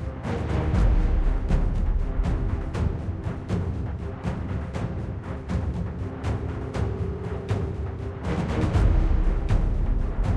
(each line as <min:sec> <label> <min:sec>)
0:00.0 Epic Orchestra 0:10.3